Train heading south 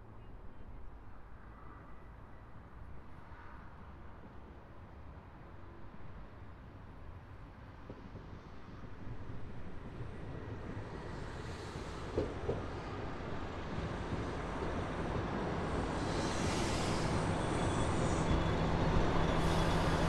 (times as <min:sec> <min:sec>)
0:07.8 0:20.0